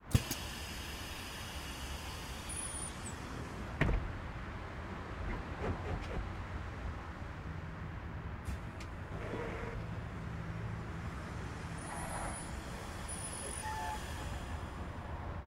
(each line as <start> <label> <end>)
0.0 Bus Open Close Door 6.8
8.4 Bus Open Close Door 10.3
11.0 Bus Open Close Door 15.0